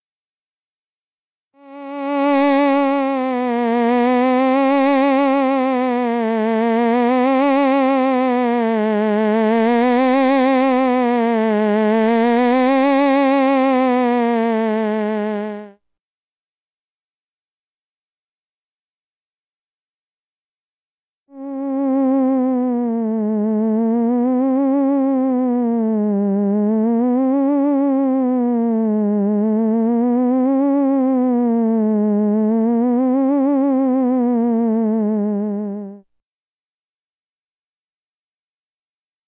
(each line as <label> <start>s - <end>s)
theremin 1.6s - 15.7s
theremin 21.3s - 36.0s